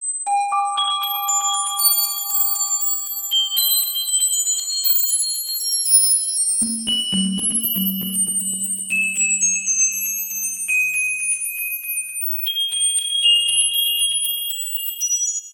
arpeggio 6.6 - 10.9

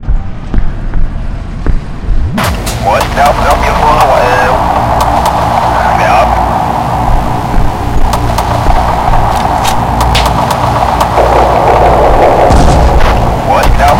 music 0.0 - 13.9
explosion 2.3 - 13.9
radio 2.8 - 6.7
radio 8.1 - 13.9

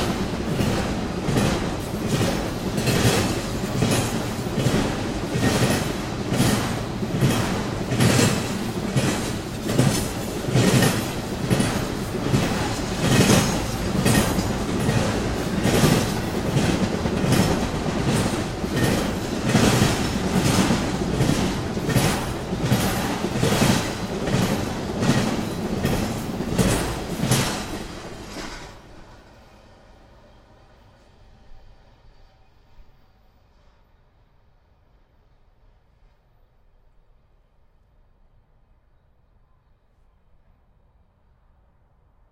Train comming 0.0 - 36.9

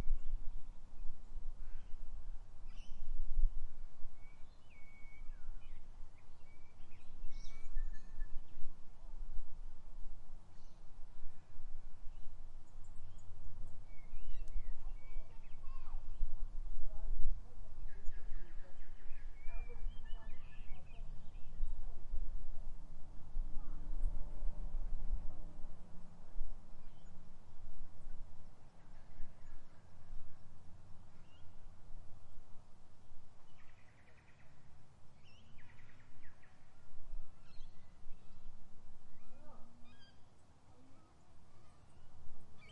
birds 0.0 - 3.2
wind 0.0 - 42.7
birds 3.8 - 9.0
birds 10.4 - 21.9
birds 28.2 - 31.8
birds 33.4 - 42.7

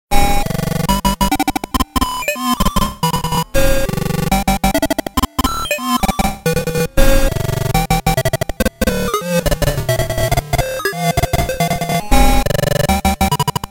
glitch stutter 0.2 - 13.7

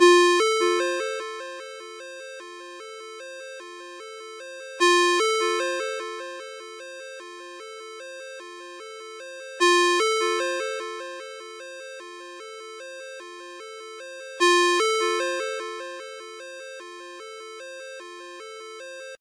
ringtone 0.0 - 19.2

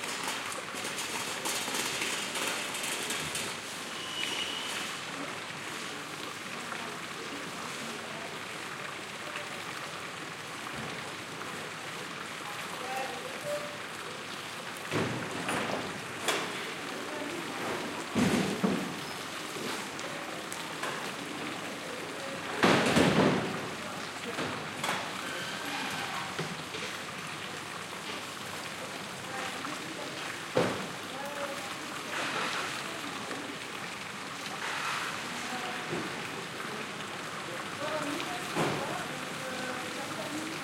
restaurants take out the tables and parasols 0.0 - 6.1
water in the fountain quietly keeps running 0.0 - 40.6
restaurants take out the tables and parasols 14.9 - 16.8
restaurants take out the tables and parasols 17.4 - 21.2
restaurants take out the tables and parasols 22.5 - 27.1
restaurants take out the tables and parasols 32.0 - 32.9
restaurants take out the tables and parasols 34.5 - 36.2

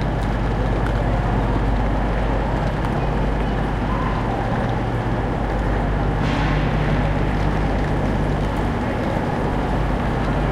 train has arrived 0.0 - 10.4
Loud metallic noises 6.1 - 9.8

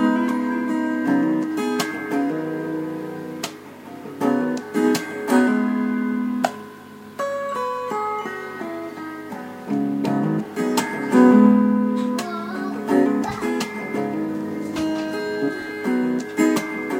guitar 0.0 - 16.9

